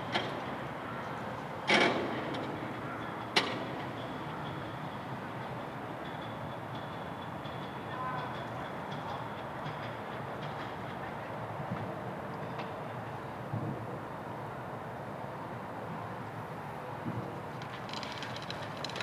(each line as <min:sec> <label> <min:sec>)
0:00.0 construction works 0:13.7
0:17.0 construction works 0:19.0
0:17.5 crane being loaded 0:19.0